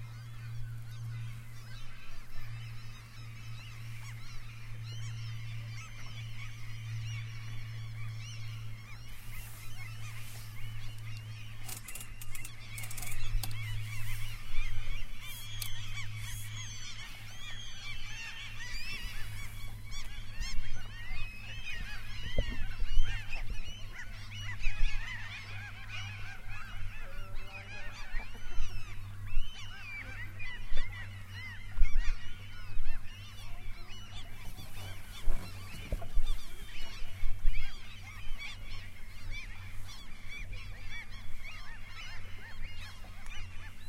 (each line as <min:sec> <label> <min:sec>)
0:00.0 seagulls 0:43.8
0:00.0 waves 0:43.8